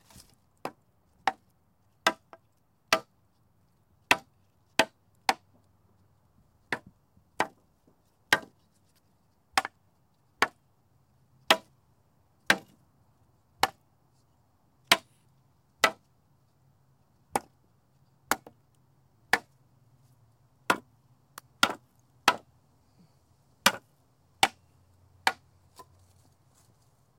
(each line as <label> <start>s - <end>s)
Wood hitting wood 6.7s - 7.6s
Wood hitting wood 8.3s - 8.6s
Wood hitting wood 20.7s - 20.9s
Wood hitting wood 21.6s - 22.4s
Wood hitting wood 23.6s - 24.6s